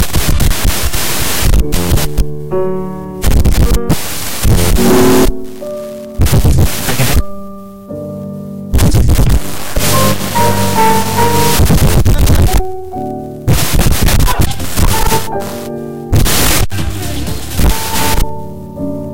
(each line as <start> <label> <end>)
0.0 crazy radio scratching 2.3
3.2 crazy radio scratching 7.4
8.7 crazy radio scratching 12.8
13.5 crazy radio scratching 18.4